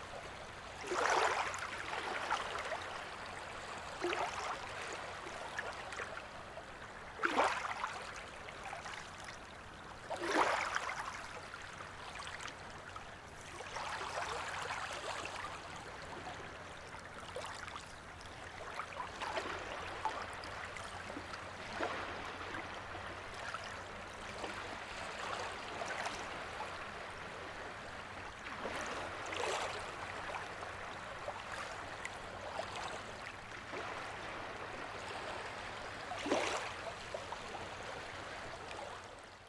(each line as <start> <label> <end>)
0.0 lagoon soft waves 39.4